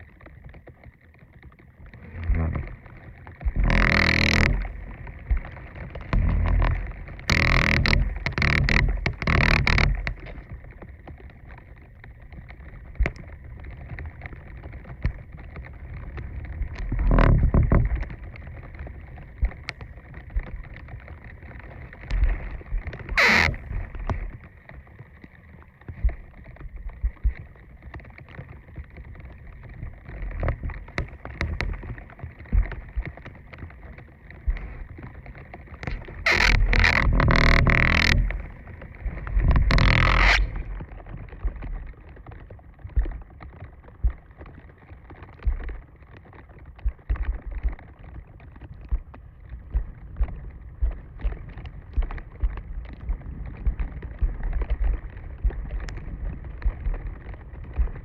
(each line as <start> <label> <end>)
1.7 Tree branch brushing against wooden fence, creaking 10.9
15.8 Tree branch brushing against wooden fence, creaking 25.4
29.3 Tree branch brushing against wooden fence, creaking 43.2